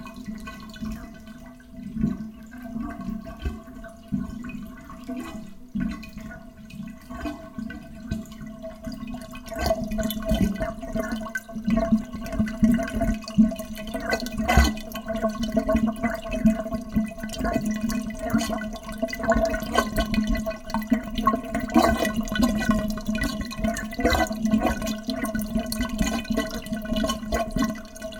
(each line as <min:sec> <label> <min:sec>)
0:00.0 Water going down the plughole in the bath 0:28.1